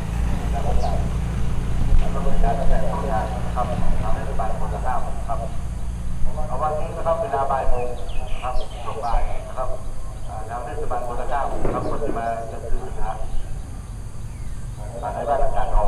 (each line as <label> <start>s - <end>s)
Fahrender Händler 0.0s - 15.8s
pedler driving by in some distance 0.0s - 15.8s